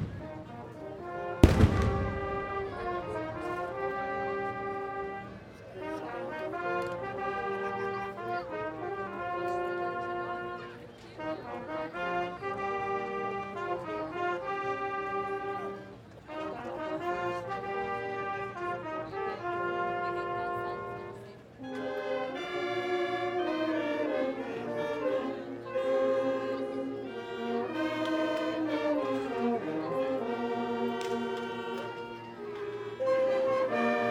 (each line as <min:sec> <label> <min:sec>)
0:01.4 fireworks 0:02.5